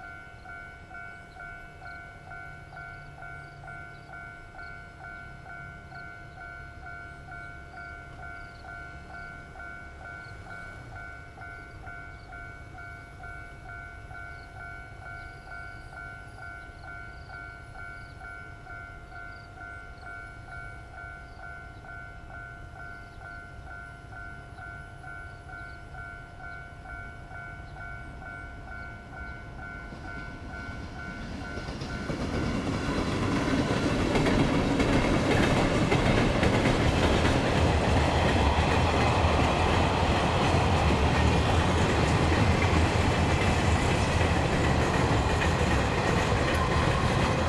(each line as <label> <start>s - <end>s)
Trains traveling through 0.0s - 47.4s